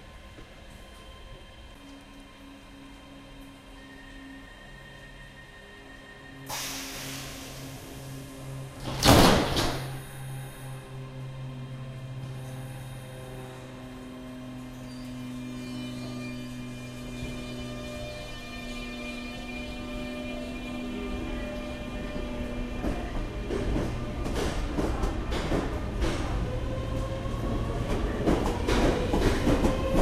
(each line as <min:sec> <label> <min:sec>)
0:00.0 another train departing on the background 0:30.0
0:00.0 train departing towards the end of the recording 0:30.0
0:06.4 train doors closing 0:10.8
0:16.0 train doors closing 0:30.0